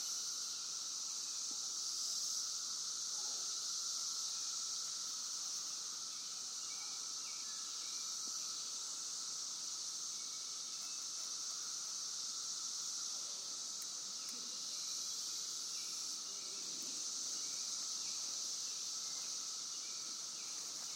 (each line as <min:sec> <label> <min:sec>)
0:00.0 Cicadas 0:20.9